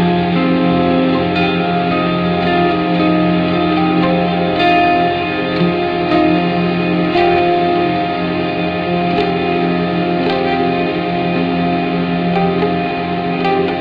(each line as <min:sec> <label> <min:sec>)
0:00.0 ethereal guitar playing 0:13.8